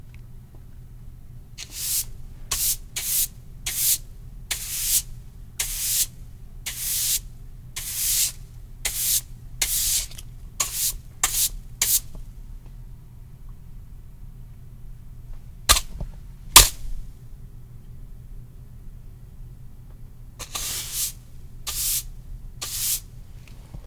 sweeping tile floor with broom 0:01.6 - 0:12.1
sweeping tile floor with broom 0:20.4 - 0:23.1

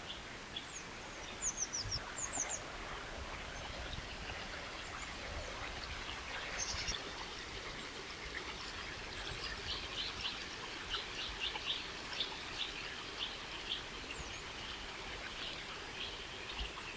water stream 0:00.0 - 0:16.9

